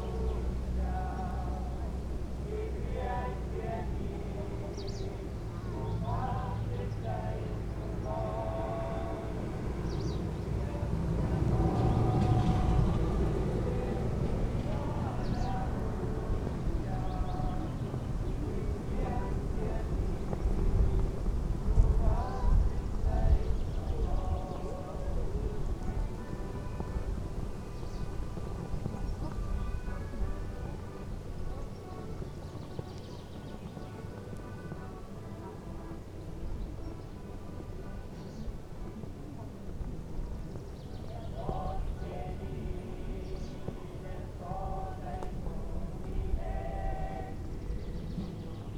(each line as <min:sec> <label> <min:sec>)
0:00.0 flags plopping in the wind 0:48.7